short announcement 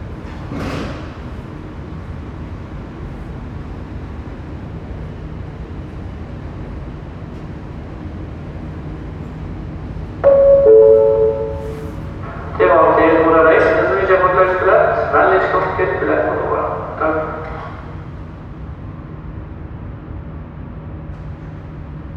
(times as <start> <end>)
10.2 17.6